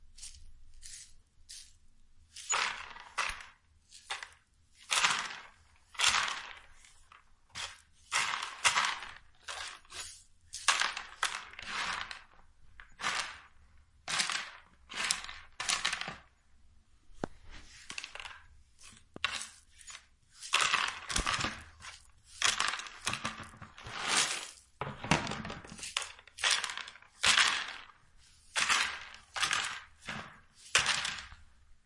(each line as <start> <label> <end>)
0.1 Sweeping beans scattered on the floor onto a plastic dustpan 16.3
2.3 beans hit the plastic 16.3
17.2 beans hit the plastic 31.5
17.2 Sweeping beans scattered on the floor onto a plastic dustpan 31.8